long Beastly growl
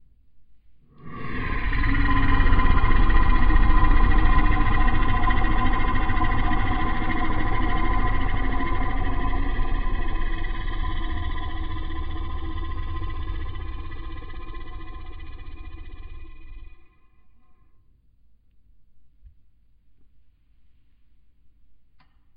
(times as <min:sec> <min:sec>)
0:01.0 0:17.6